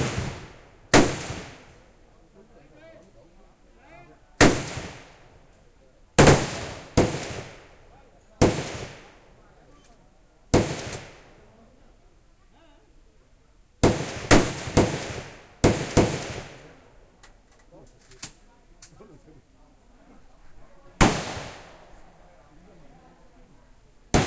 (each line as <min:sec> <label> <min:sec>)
0:00.0 real rounds of AK47, M16, M60 0:01.8
0:04.4 real rounds of AK47, M16, M60 0:05.2
0:06.2 real rounds of AK47, M16, M60 0:07.8
0:08.4 real rounds of AK47, M16, M60 0:09.2
0:10.5 real rounds of AK47, M16, M60 0:11.4
0:13.8 real rounds of AK47, M16, M60 0:16.9